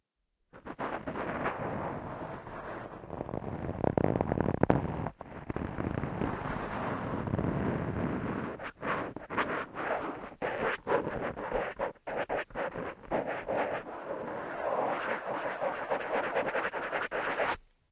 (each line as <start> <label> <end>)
0.6 Foam Microphone Wind Screen 17.6